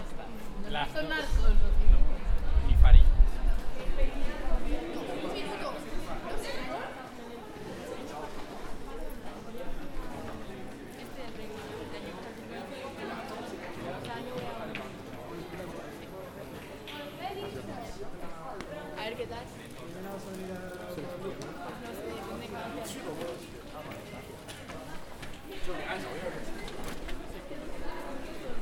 voices of people talking 0.0 - 28.6

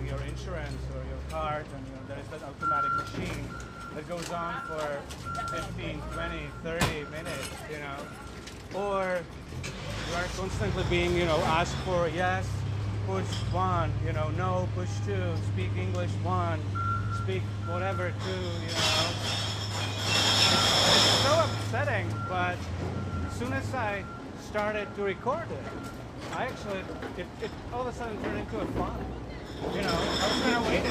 recycling beer bottles 17.8 - 21.6

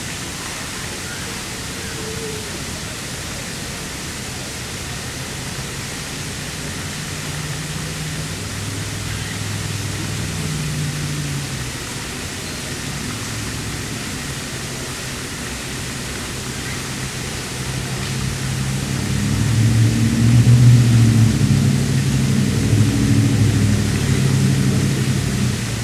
Noise from the road and parking lot 0.0 - 25.8
water sounds 0.0 - 25.8

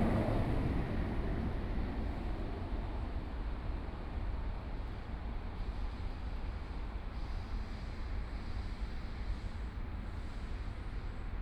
MRT trains 0.0 - 11.4

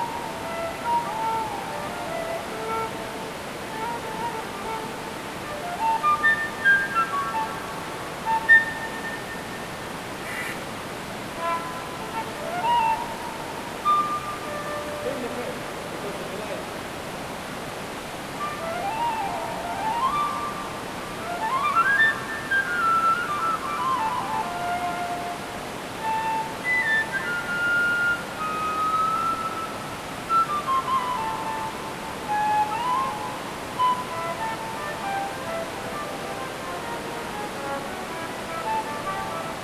musician plays a fulte underground 0.0 - 9.2
stream is runing 0.0 - 39.6
musician plays a fulte underground 11.2 - 15.8
musician plays a fulte underground 18.4 - 39.6

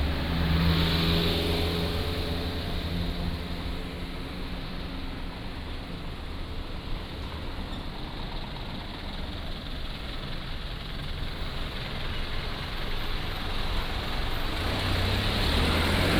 Traffic Sound 0.0 - 16.1

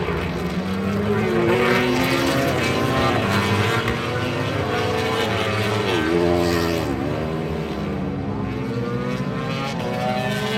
Motorcycle Grand Prix 0.0 - 10.5

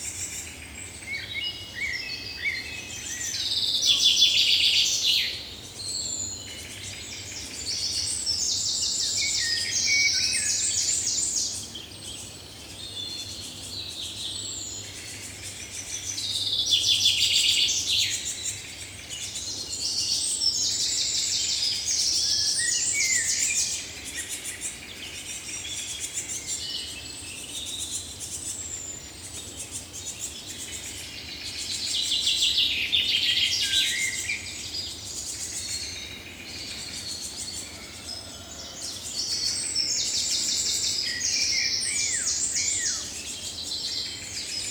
Blackbird 0.0 - 44.7
Common Chaffinch 0.0 - 44.7

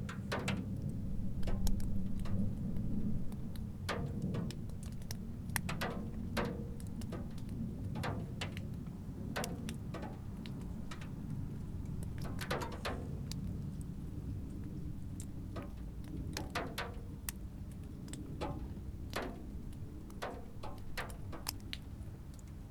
white frost melts and drips down from the roof 0.0 - 22.7

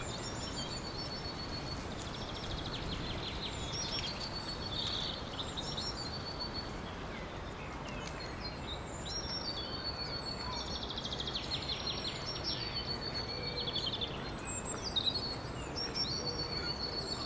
Winds 0.0 - 17.2
bird calls 0.0 - 17.2

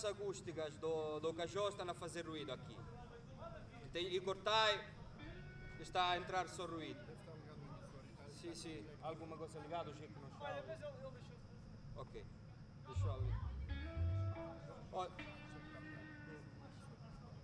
soundcheck 13.0 - 15.4

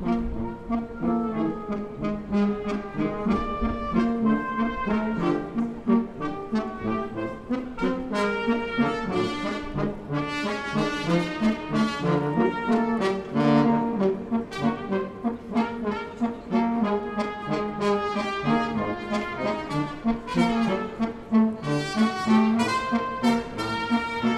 musicians from South of Romania playing brass 0.0 - 24.3

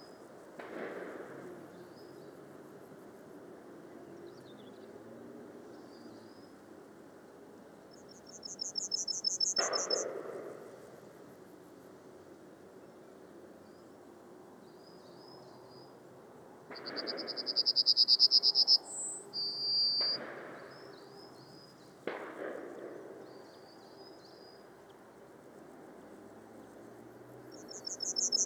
shotguns 0.6 - 1.4
Skylark 7.9 - 10.6
Skylark 16.7 - 24.7
shotguns 20.0 - 20.8
shotguns 22.0 - 23.4
Skylark 27.5 - 28.4

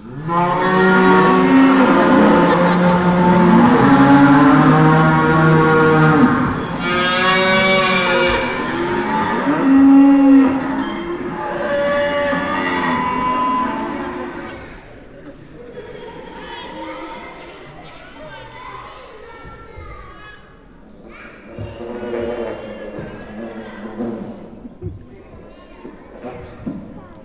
sound of the mostly young audience 0.0 - 27.2

